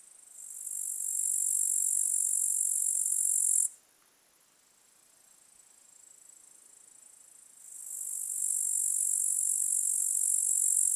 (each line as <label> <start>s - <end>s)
lone grasshopper 0.4s - 3.7s
lone grasshopper 7.6s - 10.9s